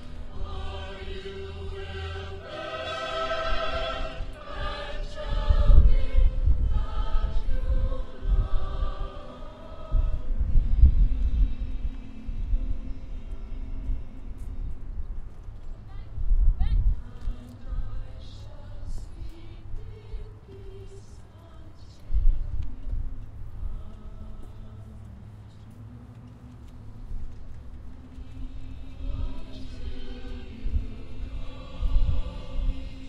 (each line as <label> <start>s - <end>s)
choir launched into a sombre and touching rendition 0.0s - 14.8s
background music 0.0s - 16.0s
traffic 0.0s - 33.0s
background music 16.9s - 33.0s
choir launched into a sombre and touching rendition 17.0s - 21.2s
choir launched into a sombre and touching rendition 28.1s - 33.0s